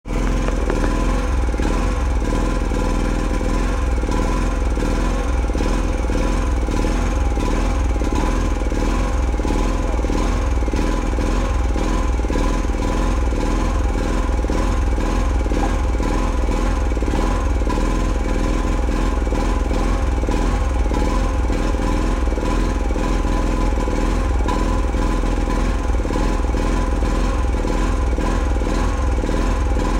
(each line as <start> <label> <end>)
0.0 Small Construction Machine 29.9